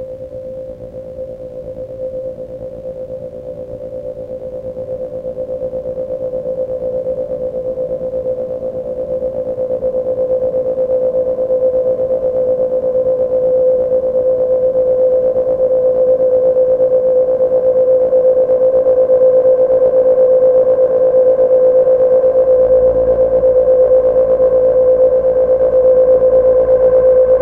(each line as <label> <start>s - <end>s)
Resonating evolving drone sound 21.0s - 27.4s